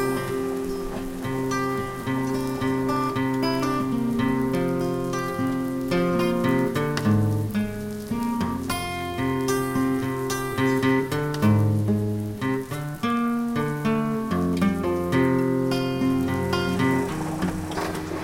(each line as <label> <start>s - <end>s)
acustic guitar improvising 0.0s - 18.2s
rain 0.0s - 18.2s
washing machine 16.0s - 18.2s